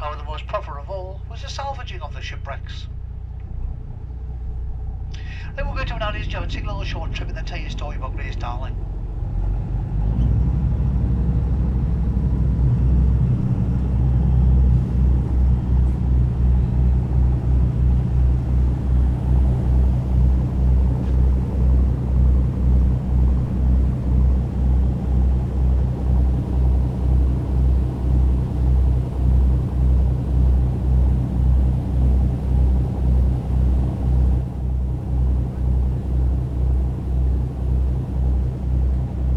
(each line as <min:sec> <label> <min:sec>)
0:00.0 commentary 0:02.9
0:05.2 commentary 0:08.8